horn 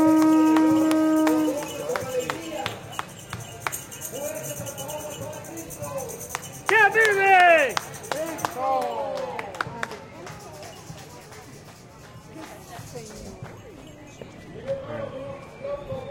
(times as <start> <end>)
0.0 2.3